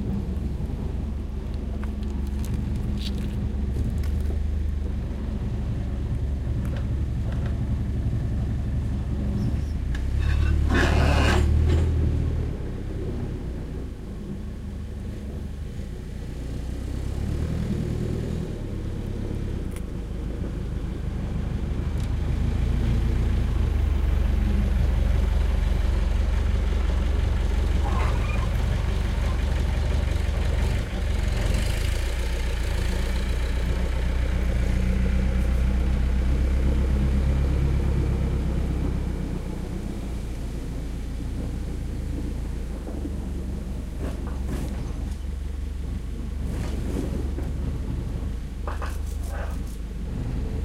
forklift 0:00.0 - 0:50.6
tractor 0:00.0 - 0:50.6
loading truck with blackcurrant 0:09.8 - 0:12.3
loading truck with blackcurrant 0:41.1 - 0:50.6

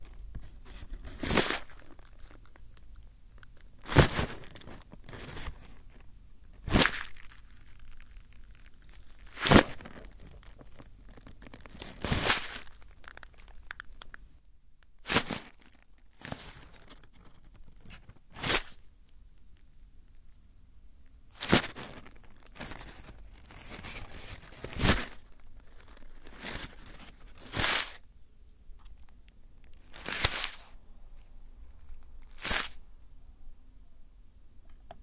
Percussive scrunching of paper 0:00.0 - 0:14.1
Percussive scrunching of paper 0:15.0 - 0:18.8
Percussive scrunching of paper 0:21.3 - 0:28.0
Percussive scrunching of paper 0:29.8 - 0:30.8
Percussive scrunching of paper 0:31.9 - 0:32.8

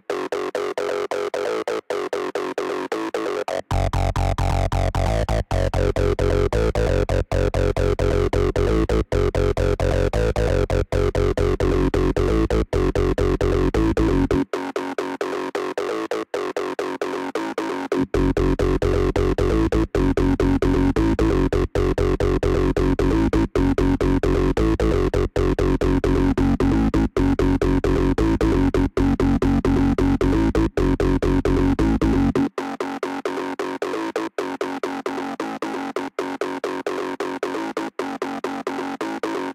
bassline 0:00.0 - 0:32.7
synthesizer 0:00.0 - 0:39.5

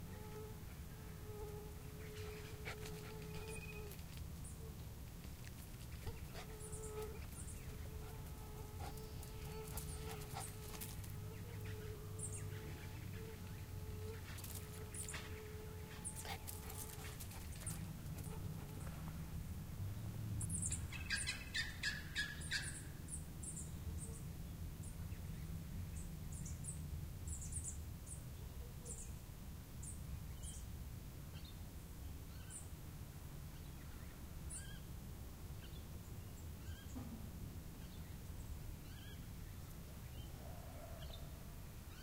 wind 0:00.0 - 0:42.0
mosquito 0:00.0 - 0:04.2
flies 0:00.0 - 0:19.0
birds 0:00.0 - 0:19.2
dog panting in the background 0:02.1 - 0:04.2
dog panting in the background 0:05.8 - 0:11.2
mosquito 0:06.4 - 0:17.3
dog panting in the background 0:15.8 - 0:18.9
birds 0:20.4 - 0:29.2
birds 0:37.7 - 0:42.0

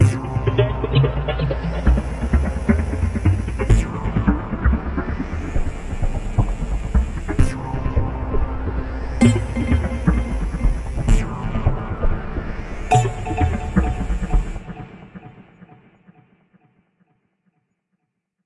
drone 0:00.0 - 0:16.2
beat 0:09.2 - 0:15.4

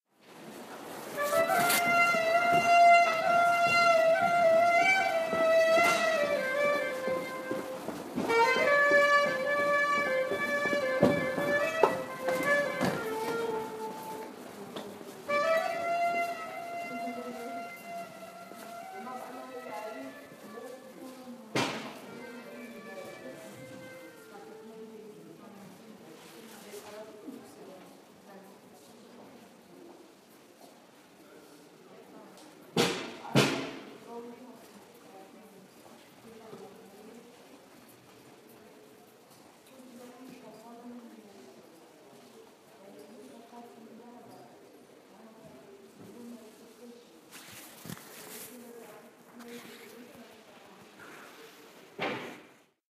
flute player 0:01.1 - 0:14.4
flute player 0:15.3 - 0:20.6
flute player 0:22.2 - 0:24.6

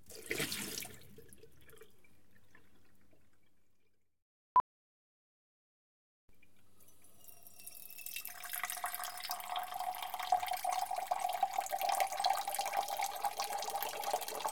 Filling cup up with water 0:06.4 - 0:14.5

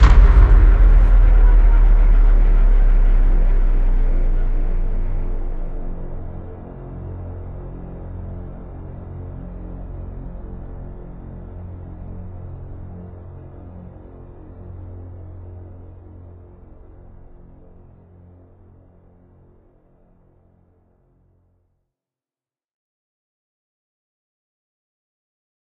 Single hit cinematic 0:00.0 - 0:05.9

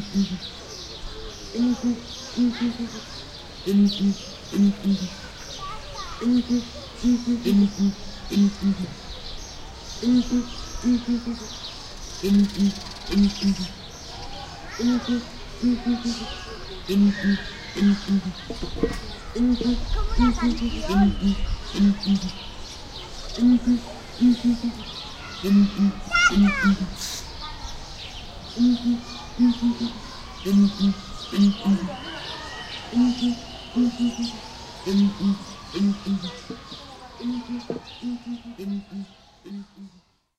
Song of two males of Southern Ground Hornbill 0:00.0 - 0:05.6
Song of two males of Southern Ground Hornbill 0:06.2 - 0:40.1

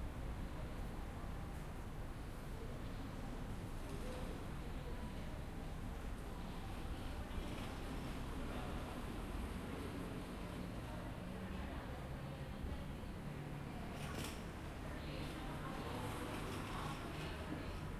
Train 0:00.0 - 0:17.9
bus 0:00.0 - 0:17.9
crowd 0:00.0 - 0:17.9

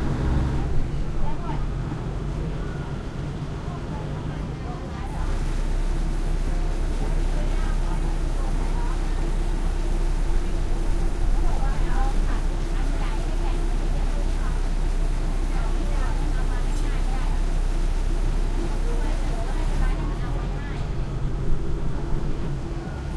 loud engine 0:00.0 - 0:03.3
passenger commuter train 0:00.0 - 0:23.1
thai chatter walla 0:00.1 - 0:23.1

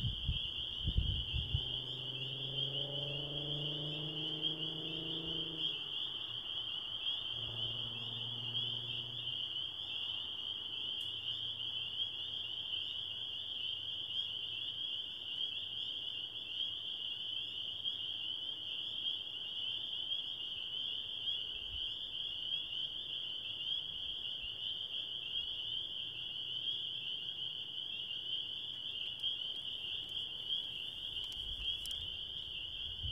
Spring peepers 0:00.0 - 0:33.1
cars can be heard driving past 0:00.9 - 0:10.6

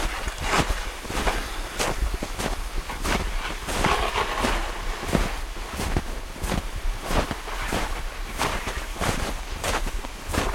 footsteps 0:00.0 - 0:10.5
man pushing a wooden sledge, sleigh, in the snow 0:00.0 - 0:10.5

